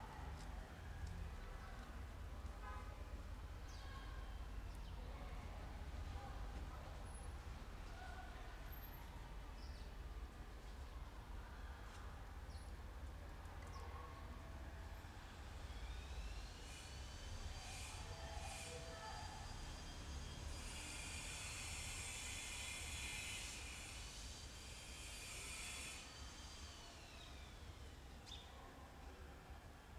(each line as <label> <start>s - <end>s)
Schoolyard in the background 0.0s - 29.9s
neighbour using a grinder 16.0s - 27.4s